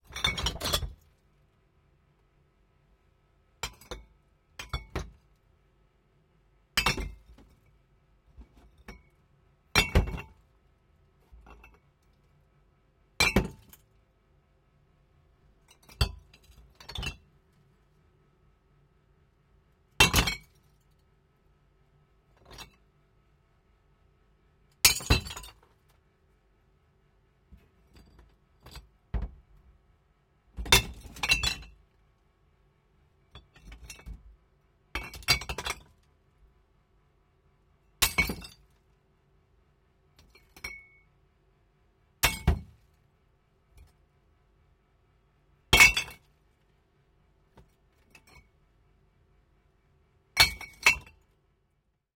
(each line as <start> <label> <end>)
0.1 dropping a glass wine bottle in a bottle bin 1.0
9.8 dropping a glass wine bottle in a bottle bin 10.3
42.2 dropping a glass wine bottle in a bottle bin 42.8